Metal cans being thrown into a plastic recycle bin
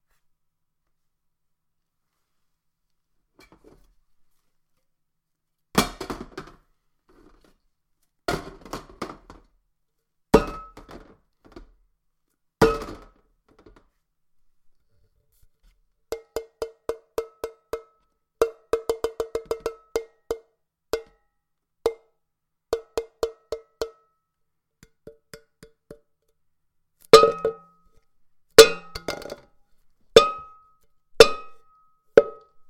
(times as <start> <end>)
5.8 6.6, 8.3 9.4, 12.6 13.2